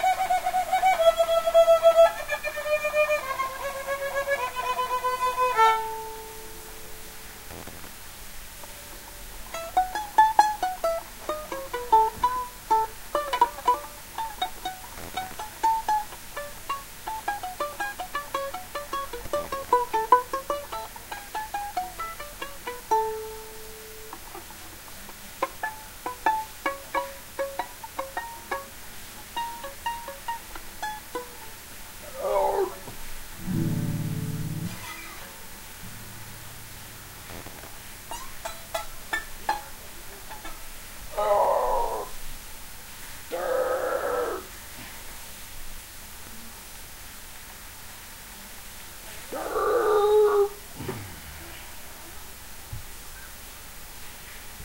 violin doodling 0:00.0 - 0:07.8
violin doodling 0:09.5 - 0:40.6

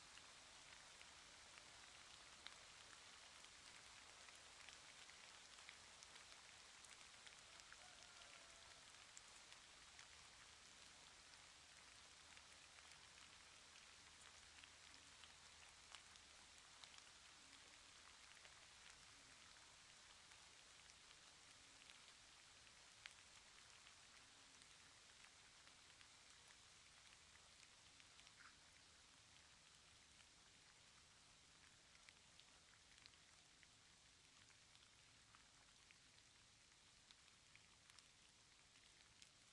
rain 0:00.0 - 0:39.5
rooster 0:07.5 - 0:08.9

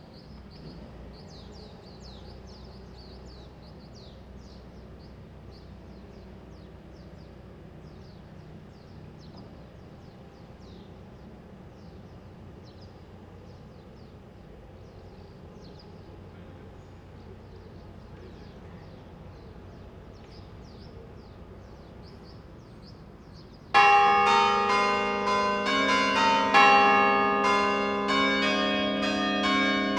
church bell 0:23.7 - 0:29.9
construction work 0:23.8 - 0:29.9

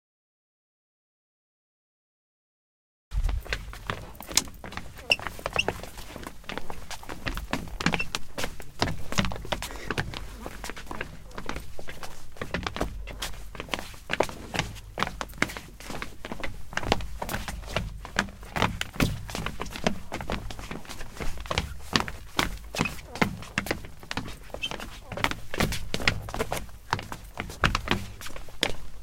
footstep 0:03.1 - 0:29.0

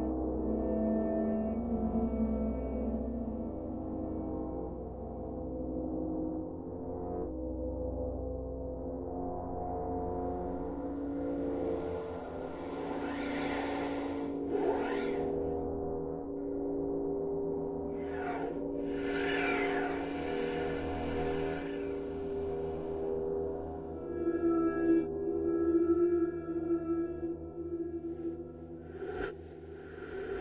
drone 0:09.5 - 0:30.4

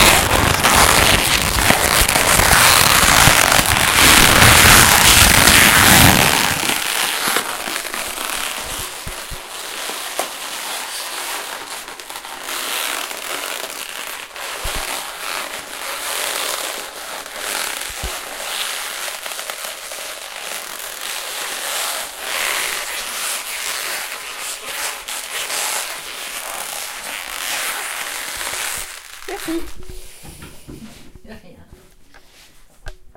Cardboard creased 0:00.0 - 0:24.3

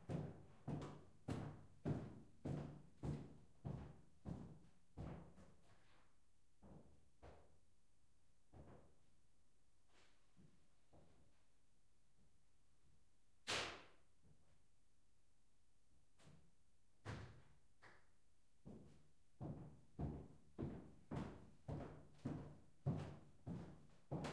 steps on wooden floor 0:19.4 - 0:24.3

